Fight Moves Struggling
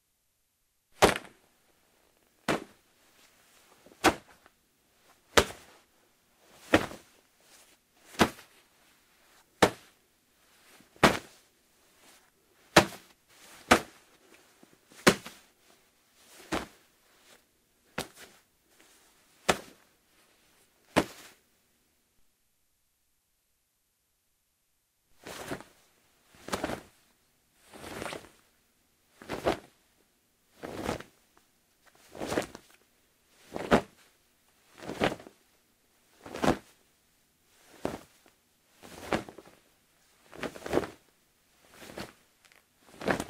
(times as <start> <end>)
8.1 8.5, 12.8 14.0